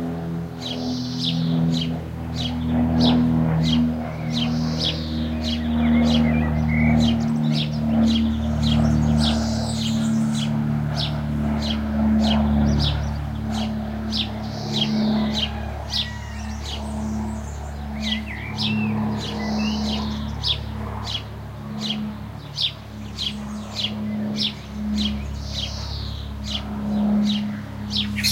Overflying airplane 0.0 - 28.3
Blackbird 27.2 - 28.3
Starling 27.9 - 28.3

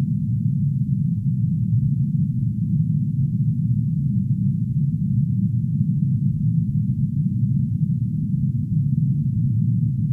low frequency drone like sound 0.0 - 10.1

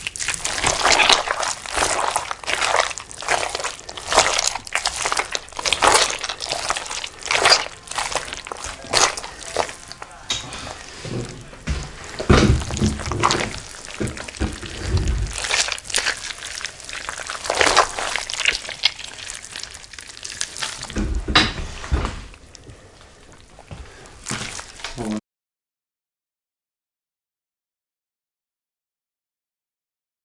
Pumpkin Guts Squish 0.0 - 21.2
Pumpkin Guts Squish 21.8 - 25.2

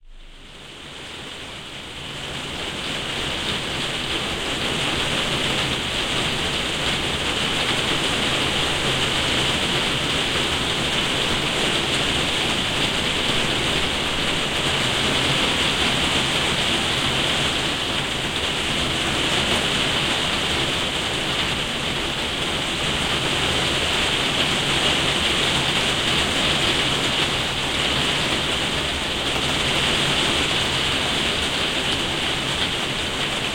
rain on conservatory3 0.0 - 33.5

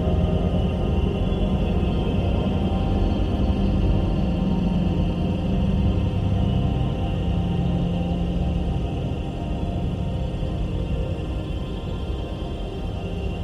slowly evolving dreamy ambient drone pad 0.0 - 13.4

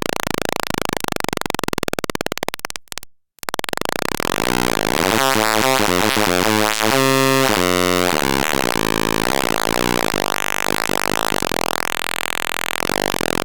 atari punk console 3.4 - 13.4

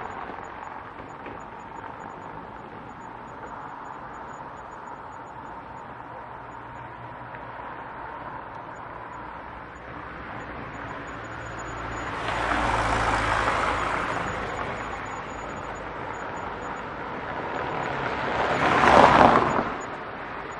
car passing 0.0 - 20.5

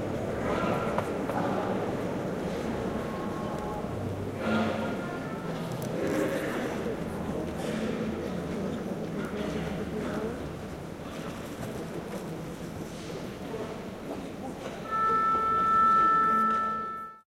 single note from an oboe 14.8 - 17.2

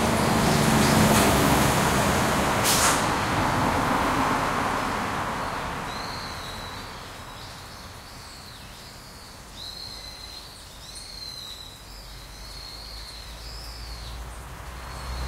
trucks 0.0 - 7.7
cars 0.0 - 8.2
bus 0.0 - 8.9
birds 5.4 - 15.2
bus 9.6 - 15.2
cars 12.0 - 15.2
trucks 12.2 - 15.2

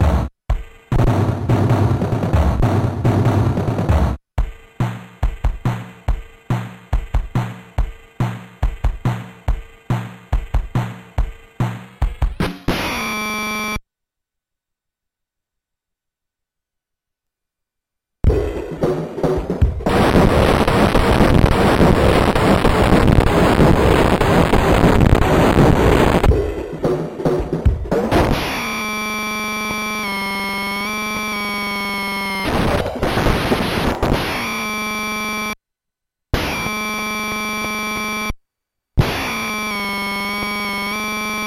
Drums 0.0 - 13.8
Drums 18.2 - 34.8
Drums 39.0 - 41.4

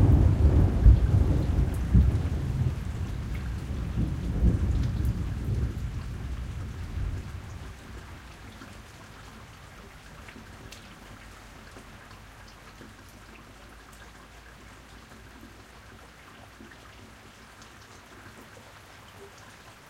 Rolling thunder 0.0 - 7.6
heavy rainfall which becomes lighter 0.0 - 19.8

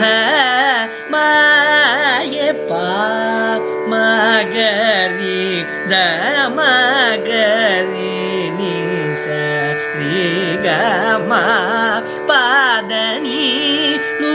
Carnatic varnam 0.0 - 14.3

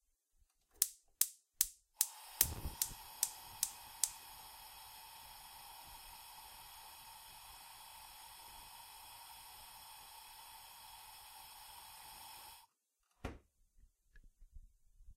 kitchen hob 2.0 - 12.7

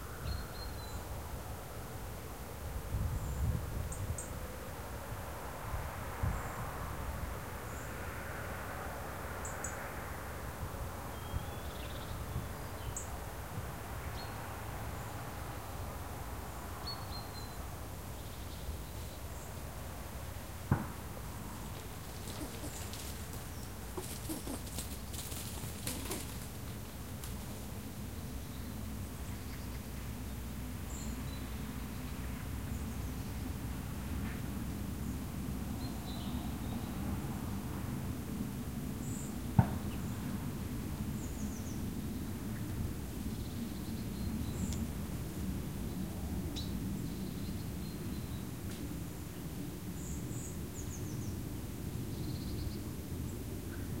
road noise 4.4 - 11.1
road noise 12.2 - 41.2
birdsong 21.2 - 27.6
rooks 21.6 - 26.8

